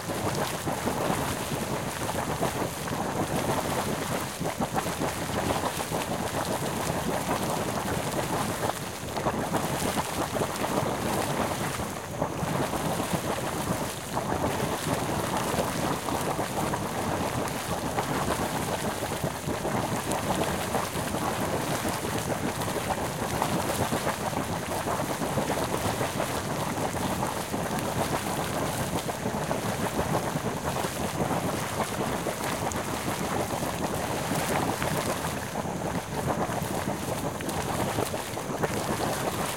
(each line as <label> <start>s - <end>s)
hot spring 0.0s - 39.5s